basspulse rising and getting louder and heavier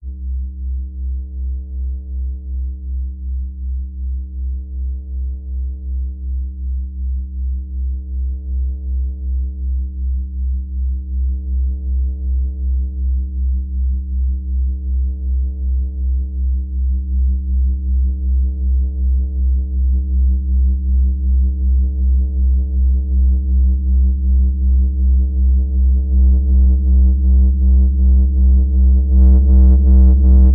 17.1s 30.5s

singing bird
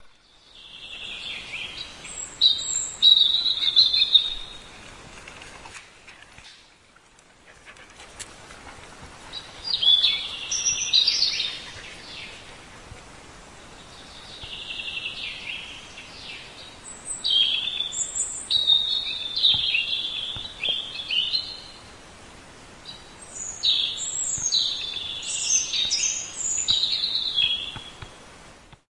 0.3s 4.6s, 14.2s 21.8s, 23.3s 28.1s

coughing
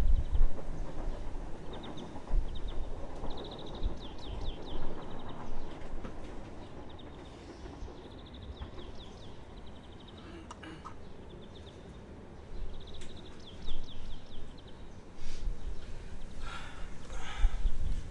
10.2s 11.0s

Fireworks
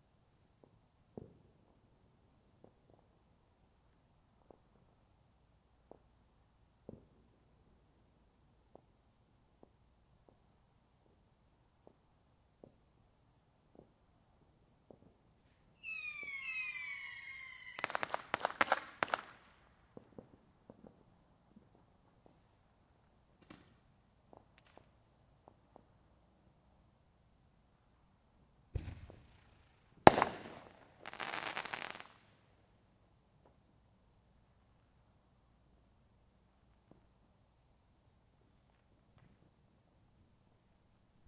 13.6s 22.6s, 23.3s 26.0s, 28.7s 32.4s

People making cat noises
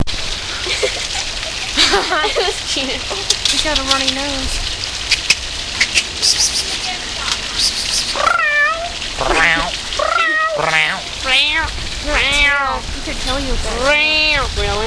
5.8s 12.9s, 13.7s 14.8s

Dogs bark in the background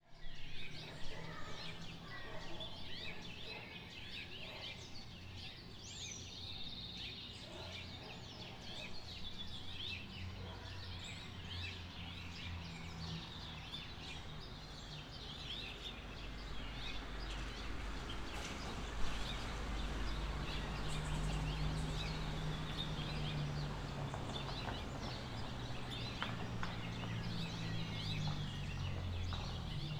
0.6s 5.5s, 6.4s 12.4s

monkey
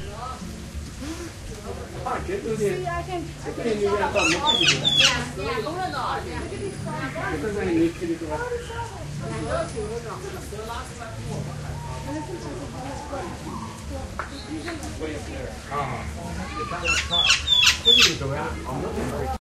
4.0s 5.6s, 11.6s 14.0s, 15.6s 18.3s

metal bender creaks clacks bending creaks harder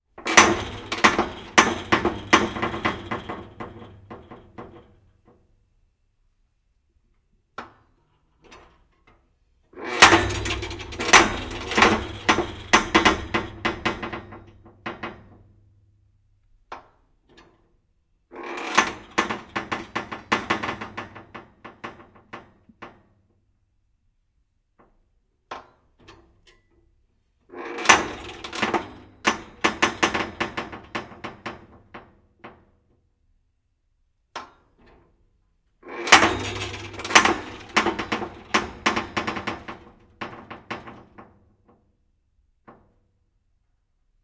0.2s 5.0s, 9.8s 15.6s, 18.3s 23.0s, 27.5s 32.8s, 35.8s 41.4s

